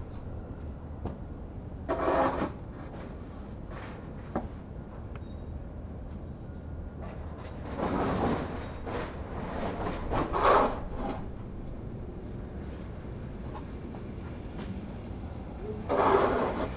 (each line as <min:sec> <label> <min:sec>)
0:01.9 Man shoveling the snow from the sidewalks 0:02.9
0:09.4 Man shoveling the snow from the sidewalks 0:11.2
0:15.9 Man shoveling the snow from the sidewalks 0:16.7